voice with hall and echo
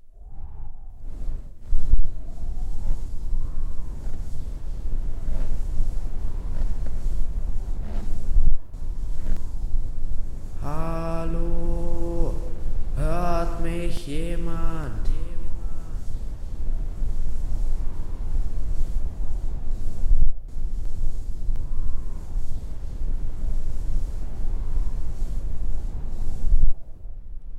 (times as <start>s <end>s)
10.6s 16.0s